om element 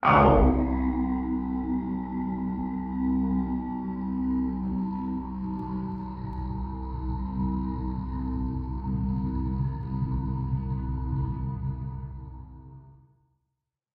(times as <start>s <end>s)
0.0s 10.4s